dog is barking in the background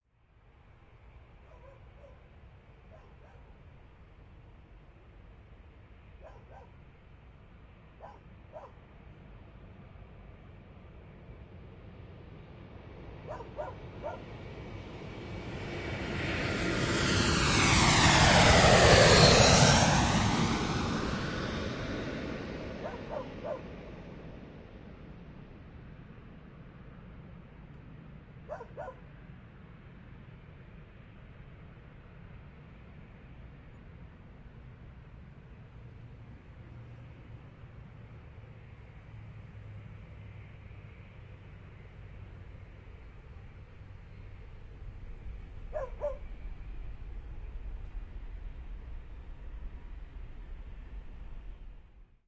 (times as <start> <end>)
1.4 3.6, 6.2 6.8, 8.0 8.8, 13.2 14.3, 22.8 23.7, 28.4 29.1, 45.7 46.3